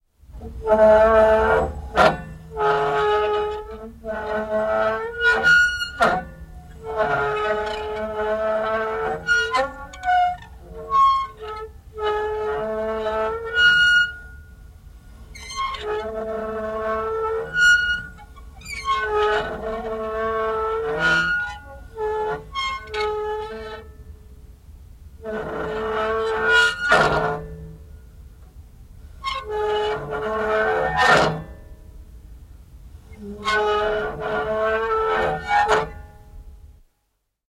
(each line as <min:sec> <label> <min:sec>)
0:00.4 Metal creaking and squeaking 0:14.6
0:15.2 Metal creaking and squeaking 0:24.1
0:25.2 Metal creaking and squeaking 0:27.9
0:33.1 Metal creaking and squeaking 0:36.1